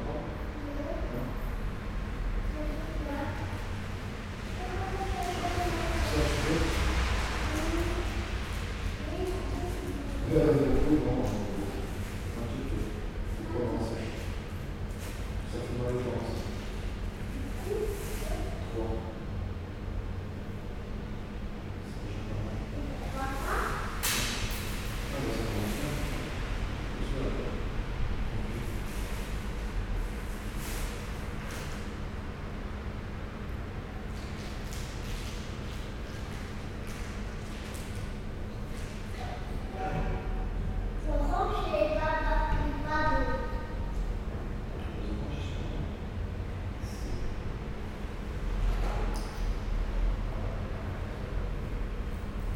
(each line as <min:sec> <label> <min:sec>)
0:05.8 freight train passes 0:09.0